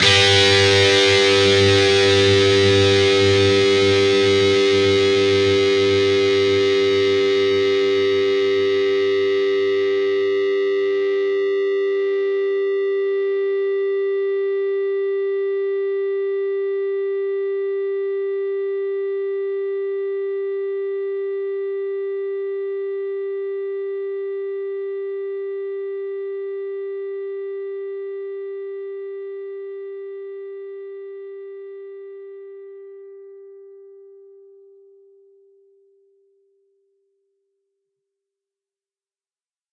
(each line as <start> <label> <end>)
0.0 distorted guitar 12.4